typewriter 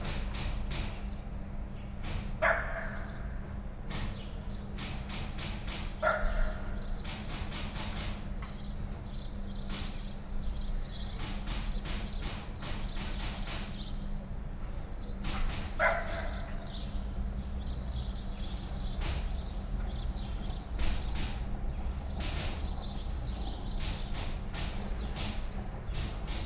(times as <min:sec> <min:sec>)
0:04.8 0:06.0, 0:07.0 0:08.2, 0:11.2 0:13.7, 0:23.8 0:26.4